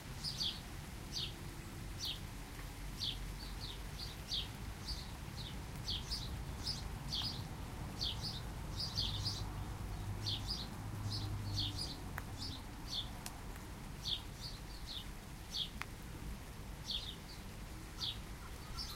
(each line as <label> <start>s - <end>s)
rain 0.0s - 18.9s
birdsong 0.2s - 2.2s
birdsong 3.0s - 13.2s
occasional passing car 9.0s - 13.0s
birdsong 14.0s - 15.9s
birdsong 16.8s - 18.9s